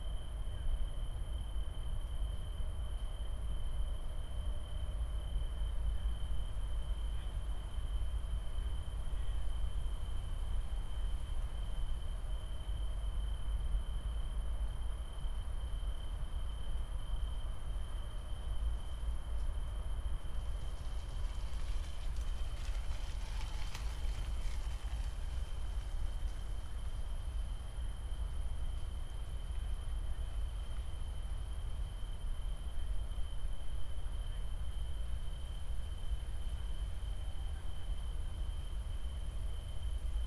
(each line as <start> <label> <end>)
0.0 tree crickets 40.2
19.0 trains 31.8